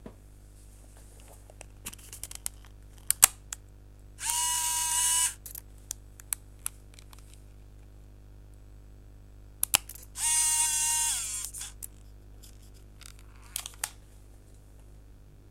camera servo 4.2 - 5.4
camera servo 10.2 - 11.8

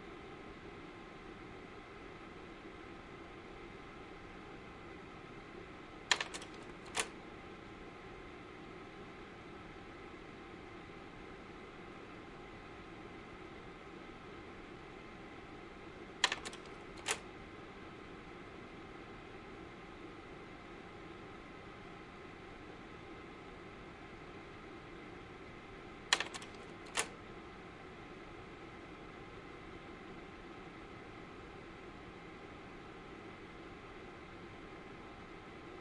slide projector 6.1 - 7.2
slide projector 16.2 - 17.3
slide projector 26.1 - 27.2

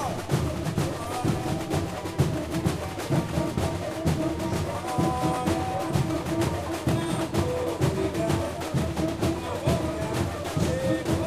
cuicas 0.0 - 11.2
puxador is singing 0.0 - 11.2
snare drums 0.0 - 11.2

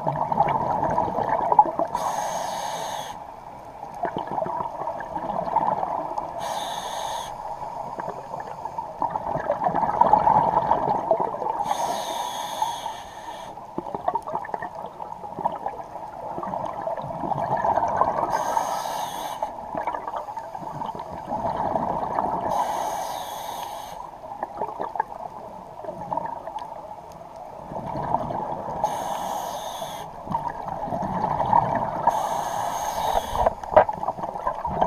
bubbles 0.0 - 2.0
scuba regulator 1.8 - 3.3
bubbles 3.9 - 6.3
scuba regulator 5.3 - 9.2
wheeze 6.4 - 7.4
bubbles 9.0 - 11.6
scuba regulator 11.6 - 13.9
wheeze 11.7 - 13.6
bubbles 13.8 - 18.3
scuba regulator 17.5 - 24.2
bubbles 19.7 - 22.5
bubbles 24.4 - 26.6
bubbles 27.6 - 28.8
scuba regulator 28.1 - 34.8
wheeze 28.9 - 30.1
bubbles 30.2 - 32.2
wheeze 32.1 - 33.5
bubbles 33.2 - 34.8

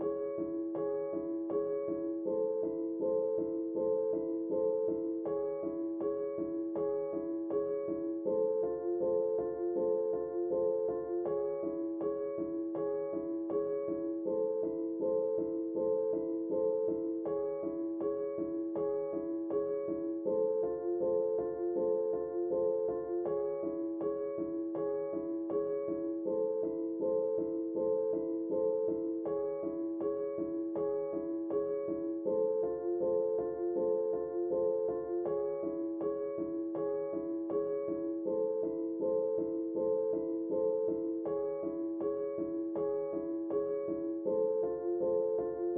piano 0.0 - 45.7

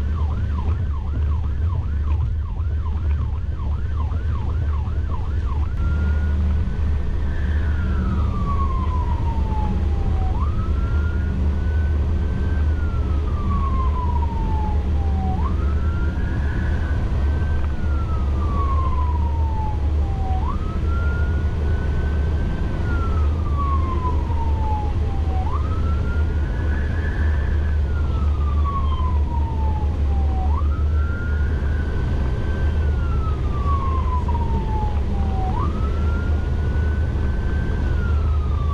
Sirens from inside a vehicle going emergency 0.0 - 38.7

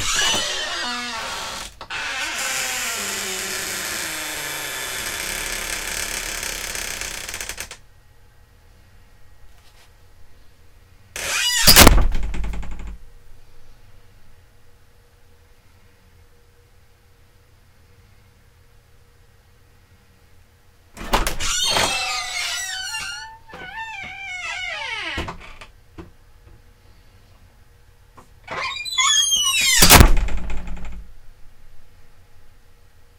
door thumps 0.0 - 1.0
creaky wooden door 0.0 - 7.8
creaky wooden door 11.2 - 13.0
creaky wooden door 21.0 - 25.7
creaky wooden door 28.2 - 31.1

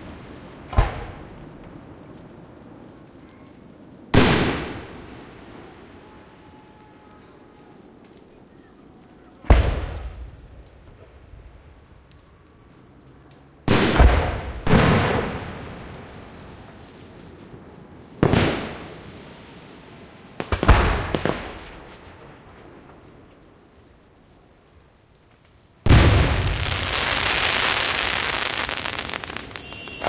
big round booms 0.0 - 1.9
flat smacky booms 0.6 - 1.7
big round booms 9.4 - 11.1
flat smacky booms 9.5 - 10.4
flat smacky booms 13.7 - 16.1
big round booms 13.7 - 16.1
flat smacky booms 20.4 - 23.0
big round booms 20.4 - 23.1
big round booms 25.9 - 30.0
fizzles 25.9 - 30.0
flat smacky booms 25.9 - 30.0
whistles 29.2 - 30.0

